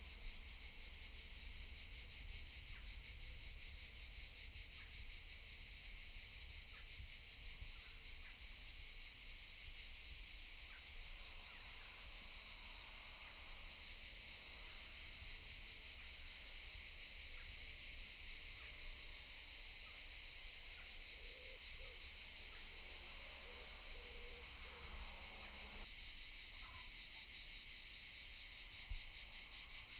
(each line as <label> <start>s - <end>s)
cicadas 0.0s - 29.9s
sparse car traffic can be heard in the distance 21.8s - 25.9s